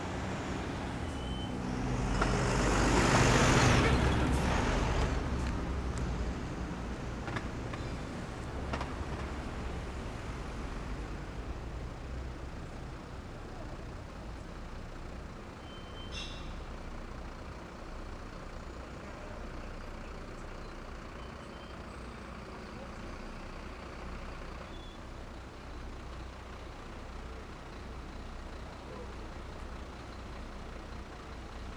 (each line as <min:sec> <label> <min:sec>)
0:00.0 Traffic passing 0:31.7